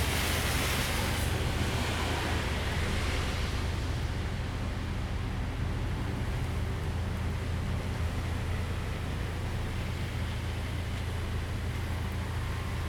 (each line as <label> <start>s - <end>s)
rain 0.0s - 12.8s